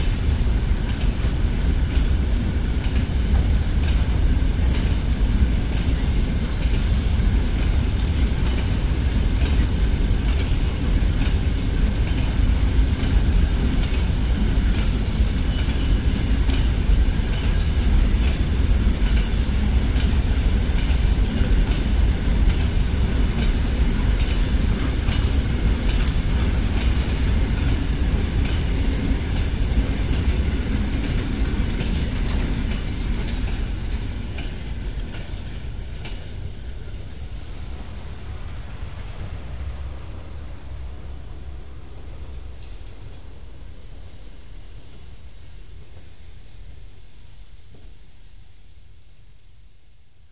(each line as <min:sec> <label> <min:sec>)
0:00.0 steam locomotive Anna 8 with coke train 0:50.3